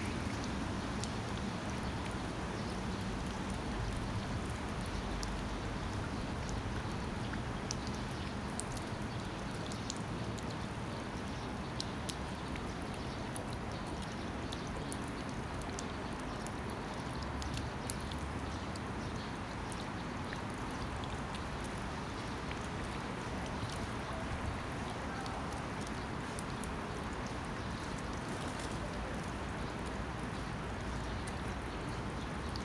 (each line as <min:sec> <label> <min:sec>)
0:00.0 Rain Gutter 0:32.6
0:00.0 Stream 0:32.6